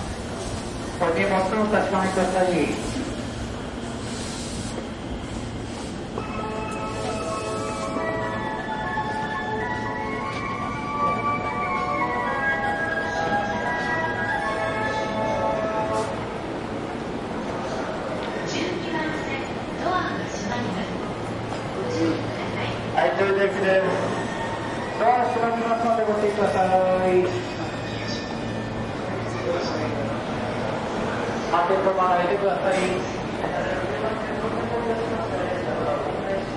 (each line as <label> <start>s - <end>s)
Train Station Announcements 0.0s - 36.5s
train 0.0s - 36.5s